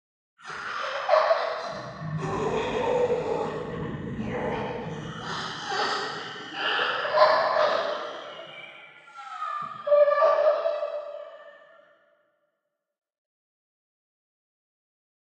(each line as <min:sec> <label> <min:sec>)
0:00.4 Ghost Monster Scream 0:11.8